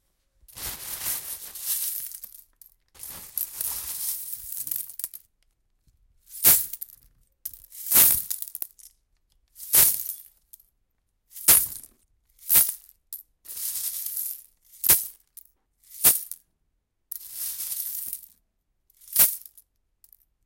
Dropping some seashells into a plastic bag 0.6 - 5.2

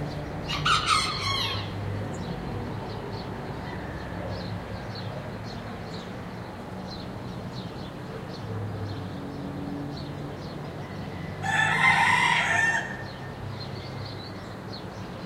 birds chirping 0.0 - 15.2
soft traffic noise 0.0 - 15.2
roosters crowing 0.4 - 2.2
roosters crowing 3.5 - 4.8
roosters crowing 10.7 - 13.7

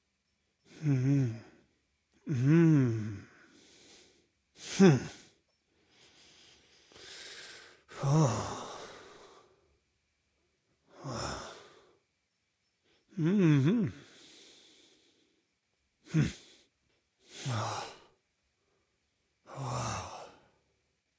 voice 0.8 - 1.5
voice 2.3 - 3.2
voice 4.6 - 5.2
voice 13.1 - 14.0
voice 16.1 - 16.5

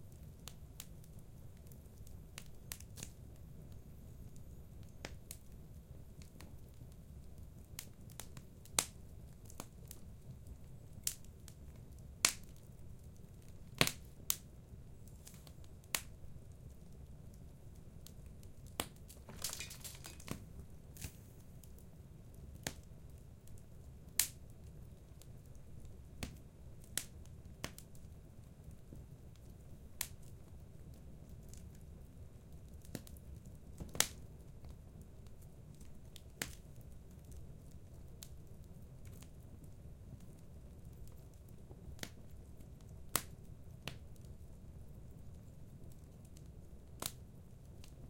fireplace 0.0 - 48.0

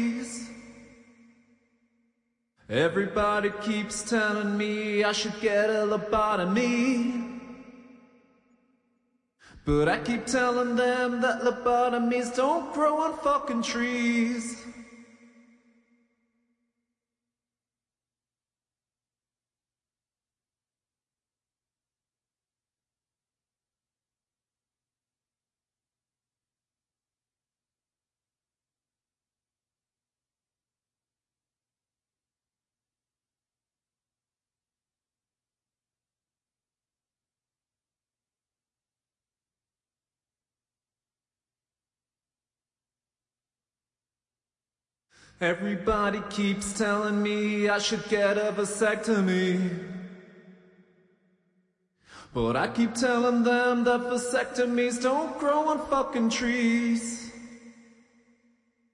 vocal 0.0 - 0.9
vocal 2.7 - 8.0
vocal 9.4 - 14.9
vocal 45.2 - 50.0
vocal 52.1 - 57.5

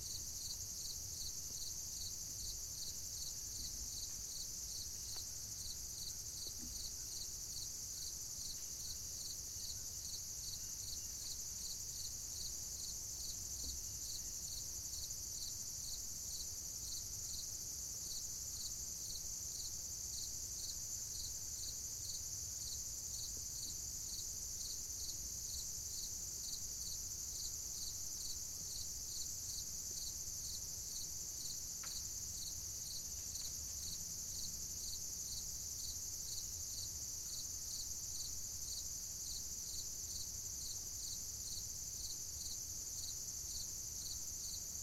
lone cricket in foreground 0.0 - 44.8

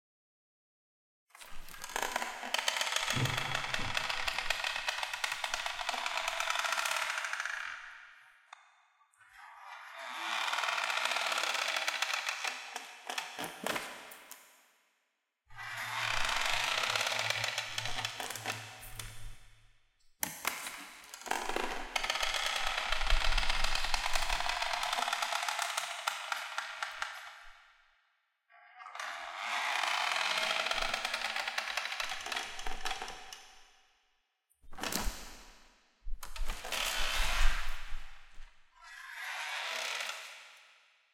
creaky door 1.5 - 8.0
creaky door 9.9 - 13.9
creaky door 15.5 - 19.4
creaky door 21.2 - 27.2
creaky door 28.8 - 33.3
creaky door 36.2 - 40.6

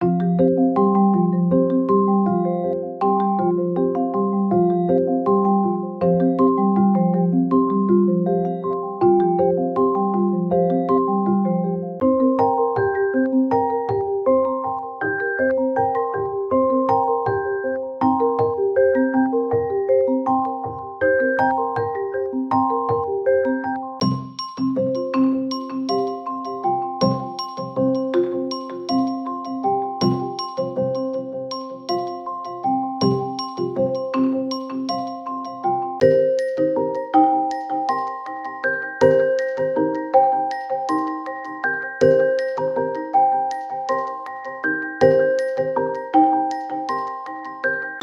mallets 24.0 - 48.0

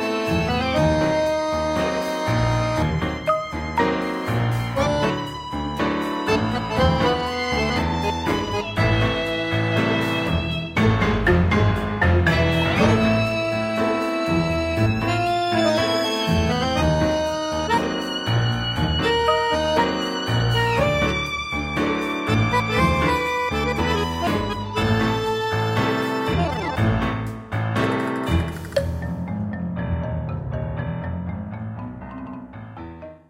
accordion 0.0 - 29.0
piano 0.0 - 33.2

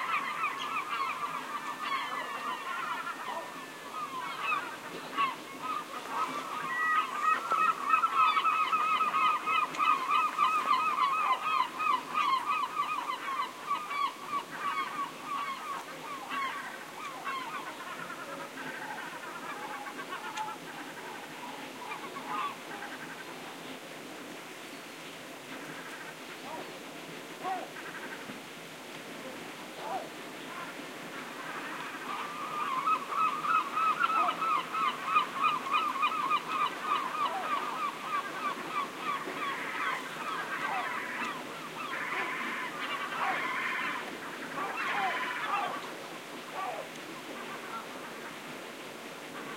seagulls screeching at some distance 0.0 - 23.3
ocean 0.0 - 49.5
seagulls screeching at some distance 29.8 - 48.3

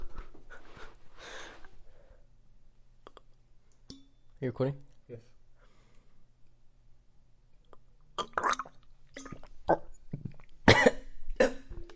man chokes on some water 8.2 - 11.7
Cough 10.7 - 11.7

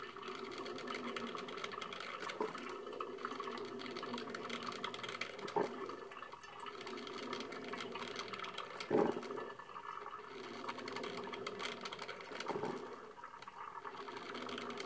Brewing coffee 0.0 - 14.8

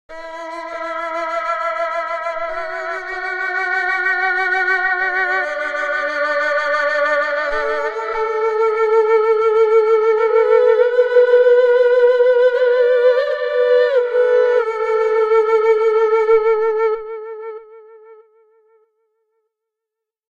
Erhu 0.1 - 19.0

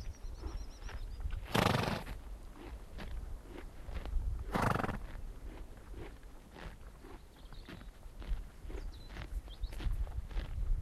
bird song 0.0 - 1.5
Pony eating grass 0.0 - 10.8
wind 0.0 - 10.8
bird song 7.0 - 10.1

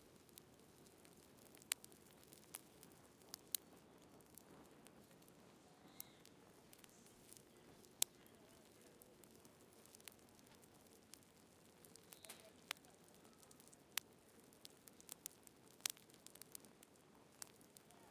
Fireplace 0.0 - 18.1

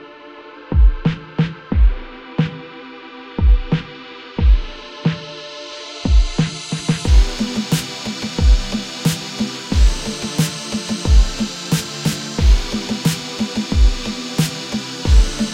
Steamy Beat 6.1 - 15.5

